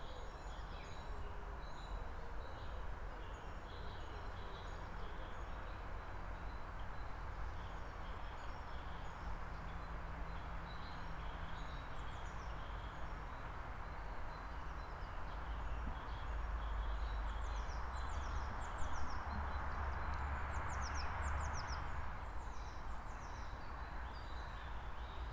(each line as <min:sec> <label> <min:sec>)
0:00.0 vehicles 0:25.3